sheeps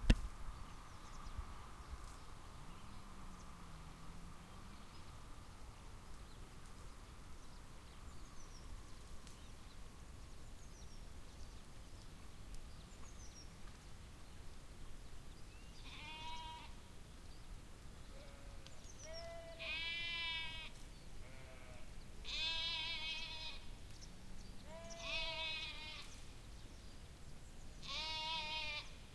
15.7s 16.8s, 18.1s 26.3s, 27.8s 29.0s

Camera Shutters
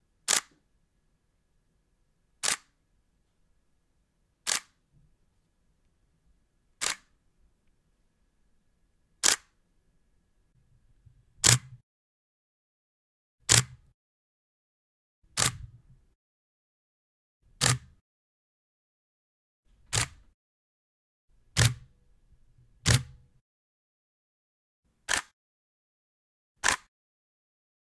4.5s 4.8s, 6.8s 7.1s, 9.2s 9.5s, 19.9s 20.2s, 25.1s 25.3s, 26.6s 26.9s

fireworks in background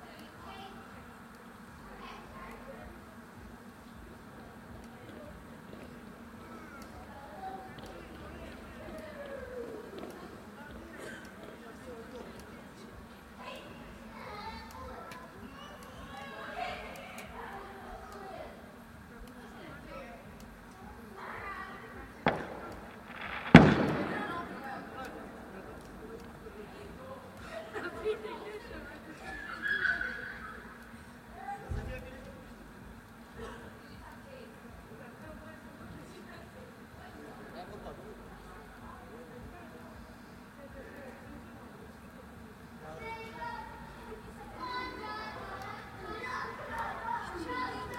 20.8s 27.0s

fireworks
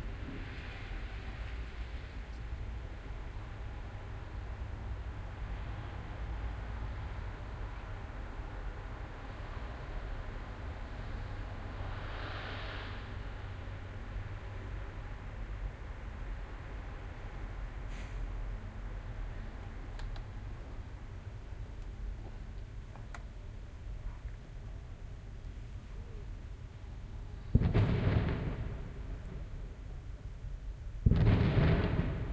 27.4s 32.3s

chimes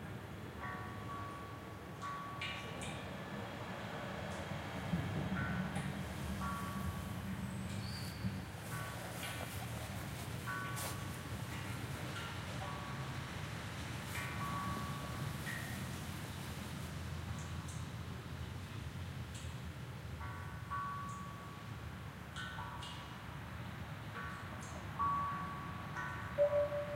24.2s 26.9s

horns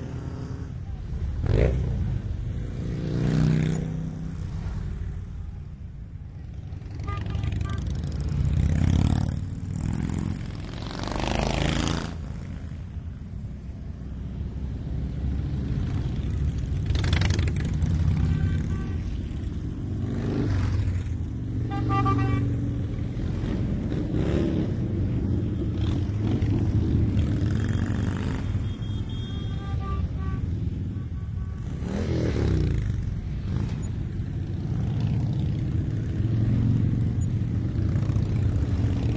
6.9s 8.0s, 18.2s 19.2s, 21.6s 22.6s, 27.8s 32.4s

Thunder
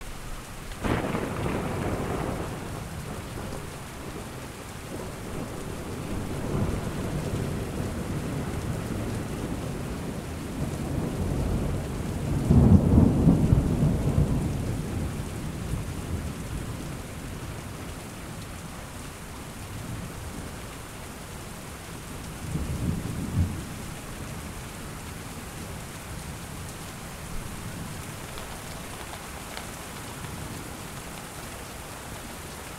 0.8s 16.8s

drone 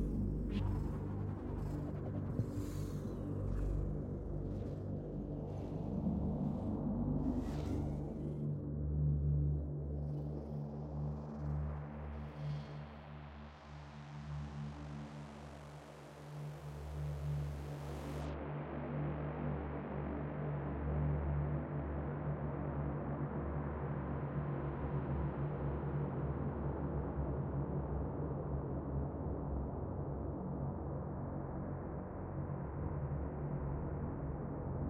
0.0s 8.7s

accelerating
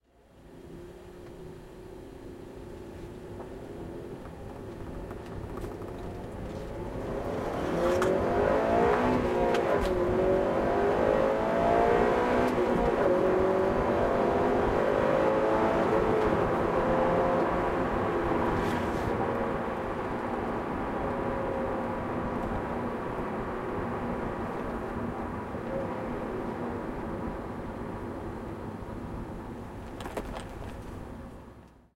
4.2s 29.3s

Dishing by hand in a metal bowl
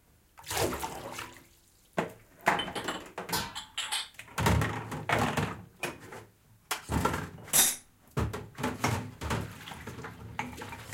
8.6s 10.9s

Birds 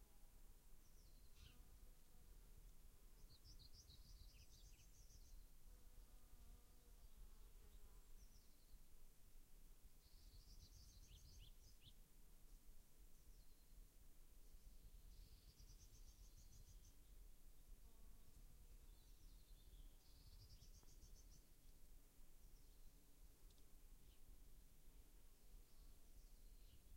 0.8s 1.7s, 3.1s 5.6s, 6.9s 9.0s, 10.0s 12.0s, 13.0s 13.9s, 14.5s 21.8s, 22.4s 24.4s, 25.5s 26.9s

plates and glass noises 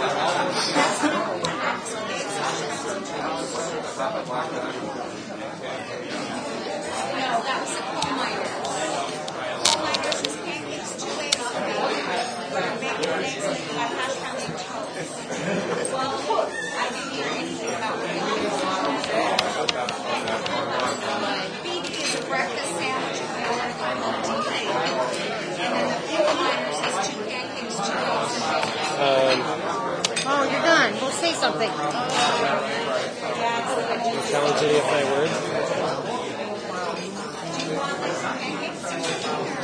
12.1s 12.6s

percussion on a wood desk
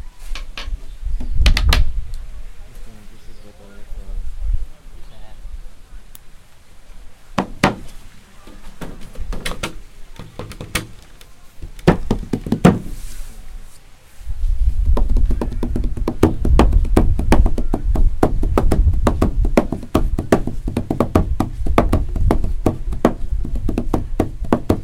14.9s 24.8s

